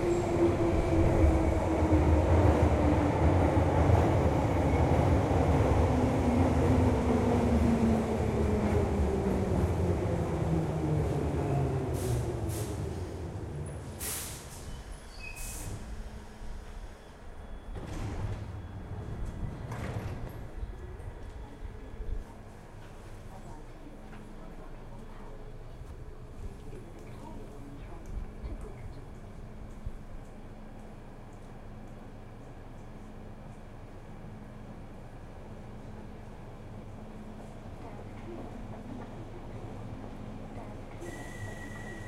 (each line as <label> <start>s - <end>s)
train 0.0s - 42.0s
Quiet station announcements 18.7s - 42.0s